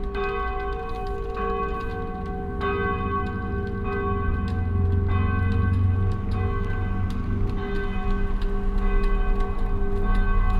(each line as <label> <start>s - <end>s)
St Michael church's ringing 0.0s - 10.5s